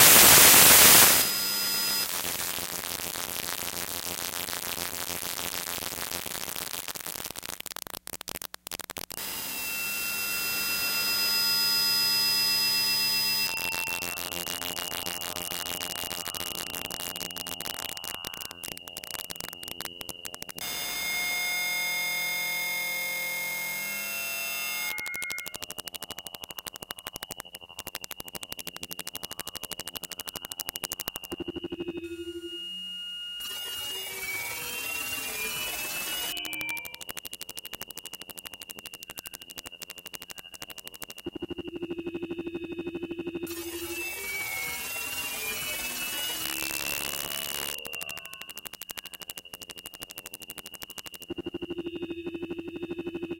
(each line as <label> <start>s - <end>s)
noisy burst which fades out into crackles 0.0s - 32.5s
tonal drone 31.7s - 33.5s
noisy burst which fades out into crackles 33.4s - 41.9s
noisy burst which fades out into crackles 42.8s - 52.4s